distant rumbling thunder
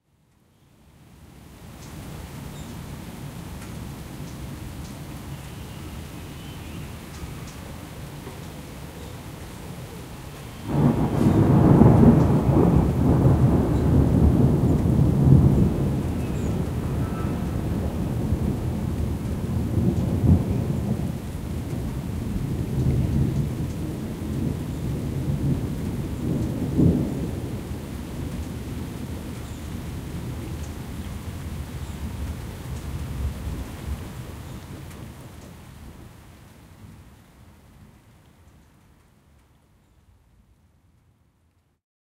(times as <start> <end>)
10.6 36.2